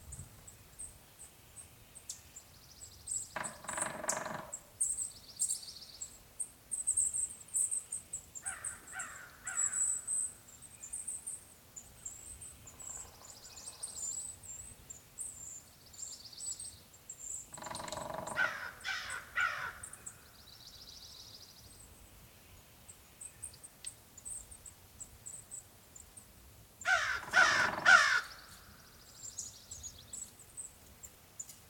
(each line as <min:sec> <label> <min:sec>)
0:00.0 wind in the trees 0:01.9
0:03.2 pileated woodpecker calls 0:05.1
0:03.4 crows 0:04.6
0:03.4 woodpecker drumming 0:04.6
0:08.4 pileated woodpecker calls 0:10.3
0:08.4 crows 0:10.0
0:12.6 pileated woodpecker calls 0:14.2
0:17.4 pileated woodpecker calls 0:20.3
0:17.5 woodpecker drumming 0:19.8
0:17.5 other birds not yet identified 0:20.3
0:17.6 crows 0:20.2
0:26.8 woodpecker drumming 0:28.5
0:26.8 crows 0:28.8
0:26.8 pileated woodpecker calls 0:28.9
0:26.8 other birds not yet identified 0:29.1